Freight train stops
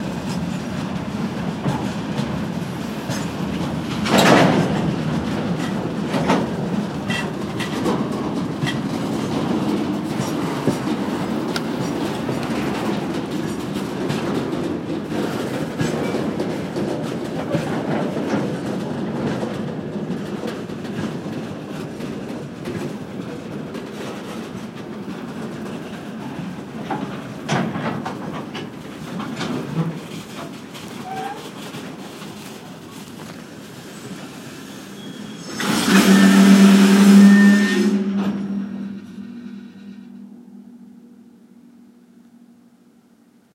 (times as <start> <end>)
25.2 42.8